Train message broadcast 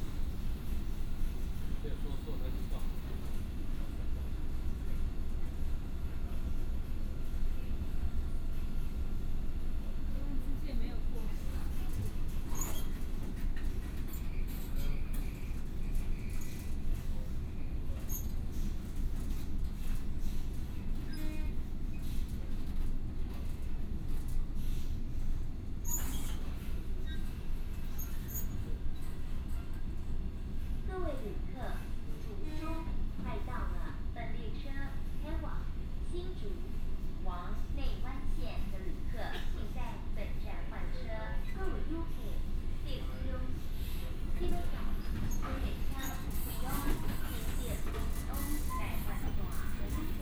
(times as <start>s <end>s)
44.2s 50.2s